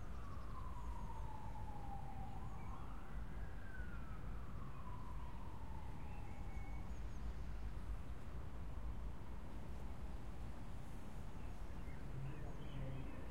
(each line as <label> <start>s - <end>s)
distant sirens 0.0s - 13.3s